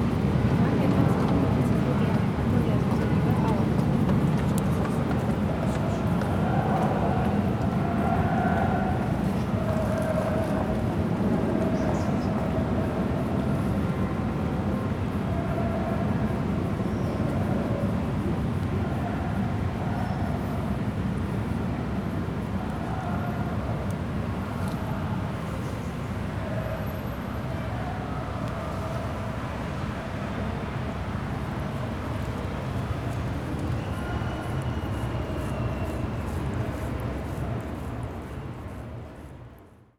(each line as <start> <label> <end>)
0.0 tram rattles on a bridge above 39.7